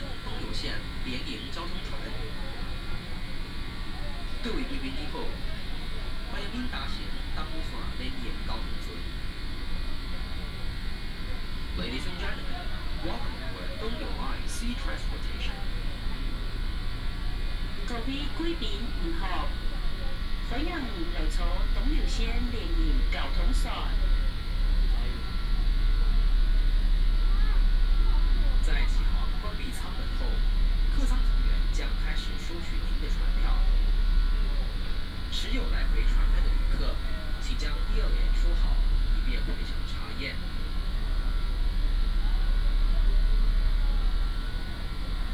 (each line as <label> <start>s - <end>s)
Information broadcast by boat 0.0s - 45.3s